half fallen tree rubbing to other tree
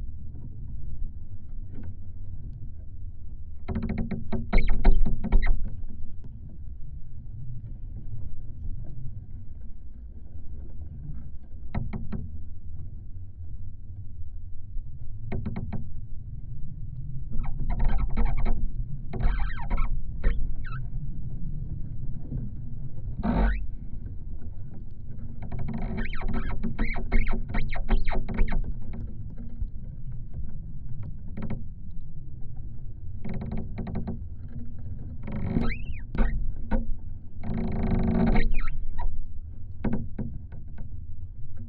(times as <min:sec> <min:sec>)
0:23.2 0:23.8